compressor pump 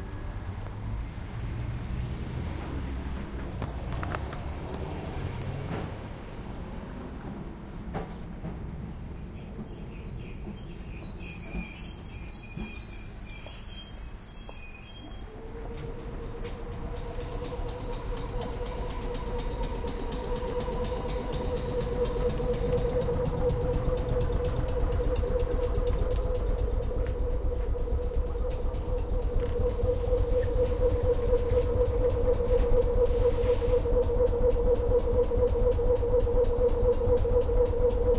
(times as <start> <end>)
15.3 38.1